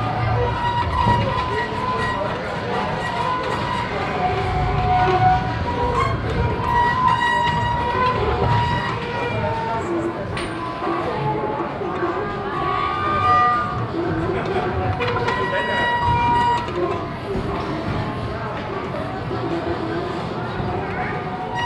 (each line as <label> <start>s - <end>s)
squeaky, singing sound of the turning wheel 0.0s - 11.8s
crowdy atmosphere 0.0s - 21.6s
squeaky, singing sound of the turning wheel 14.9s - 17.7s
squeaky, singing sound of the turning wheel 19.1s - 21.6s